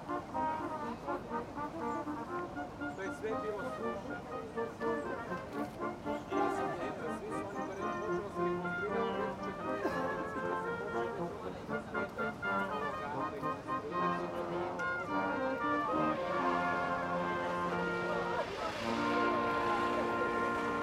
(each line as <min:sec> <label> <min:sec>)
0:00.0 Music 0:20.8